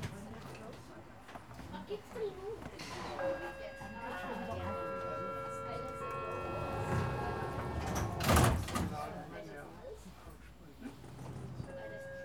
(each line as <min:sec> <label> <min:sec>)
0:02.6 ropeway ride 0:09.0